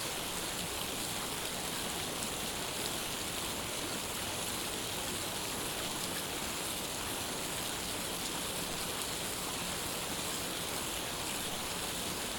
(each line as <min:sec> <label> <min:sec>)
0:00.0 Water Fountain 0:12.3